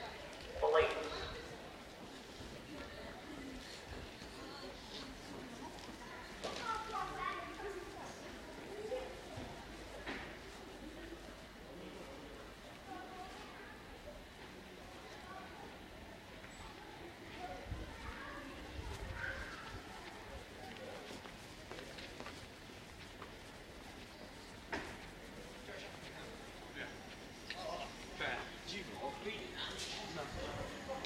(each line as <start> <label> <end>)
0.0 voices 31.0
0.6 announcemnts 1.3
18.7 footsteps 31.0
20.0 trains coming and going 31.0